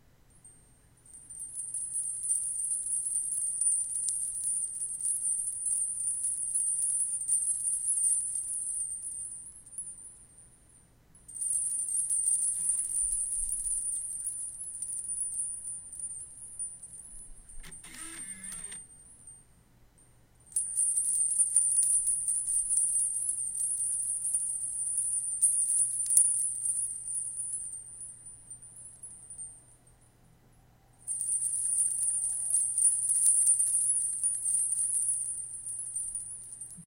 Blu ray drive 17.6 - 18.8

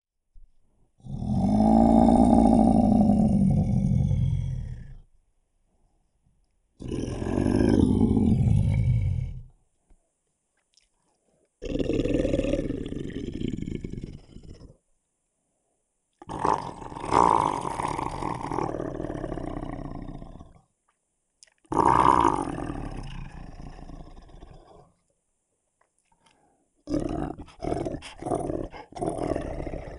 Growling 1.0 - 5.1
Growling 6.8 - 9.6
Growling 11.6 - 14.8
Growling 16.2 - 20.6
Growling 21.7 - 25.0
Growling 26.8 - 29.9

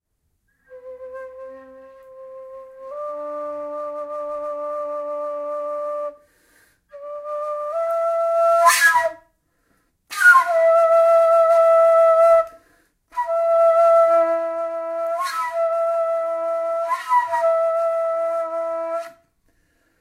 Kaval 6.9 - 9.3
Kaval 10.1 - 19.3

